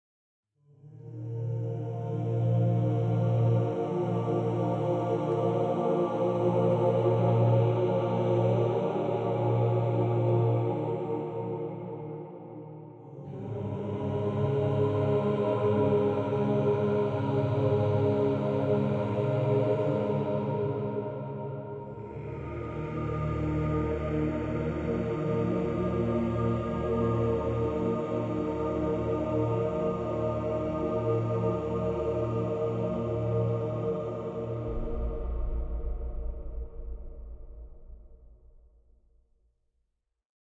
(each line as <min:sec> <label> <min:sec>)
0:33.1 choral 'sting' 0:38.4